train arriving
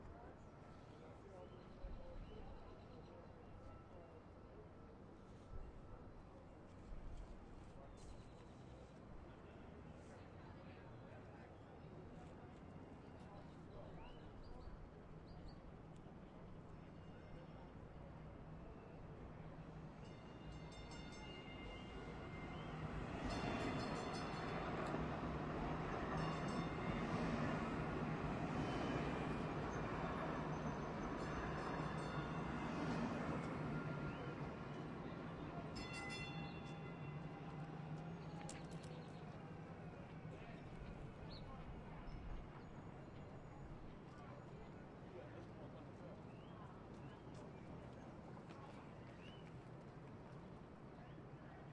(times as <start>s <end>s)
18.4s 45.2s